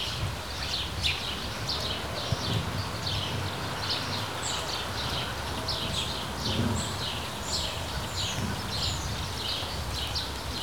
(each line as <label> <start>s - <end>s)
light rain 0.0s - 10.6s